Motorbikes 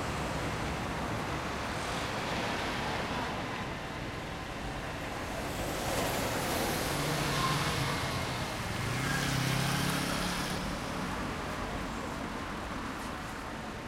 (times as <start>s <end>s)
5.7s 12.2s